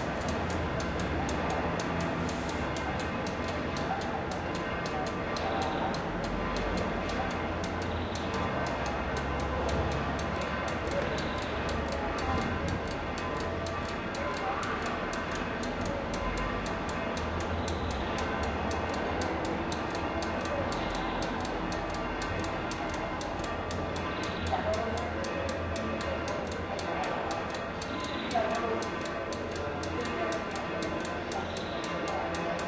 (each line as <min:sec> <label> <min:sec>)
0:00.0 egg timer 0:32.6
0:00.0 street ambiance 0:32.6